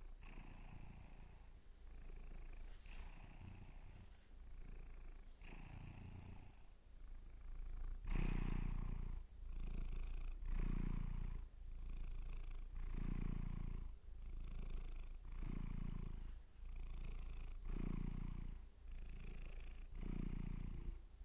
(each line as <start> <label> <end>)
0.0 cat purr 21.2